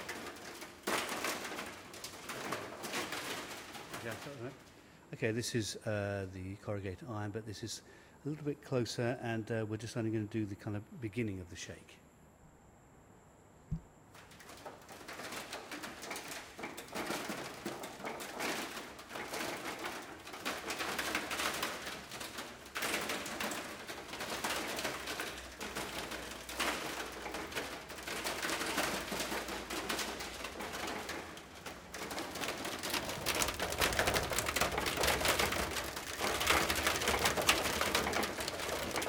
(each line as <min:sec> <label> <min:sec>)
0:00.0 corrugated iron being shaken 0:04.7
0:14.2 corrugated iron being shaken 0:39.0